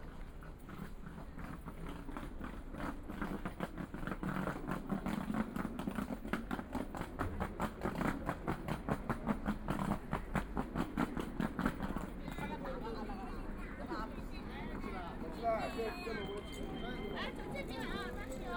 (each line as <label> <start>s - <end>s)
Traffic Sound 10.1s - 18.5s
Students voice conversation 11.8s - 18.5s